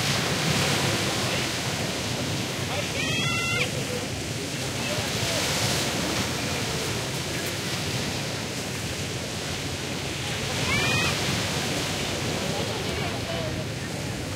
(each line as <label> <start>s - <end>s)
OCEAN 0.0s - 14.3s
medium crowd 0.8s - 14.3s